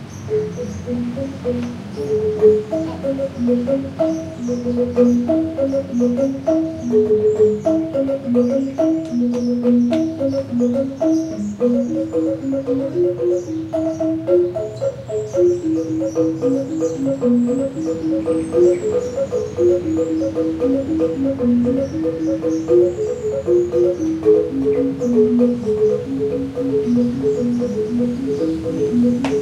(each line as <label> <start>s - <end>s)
Angklung (traditional Balinese bamboo xylophone) 0.2s - 29.4s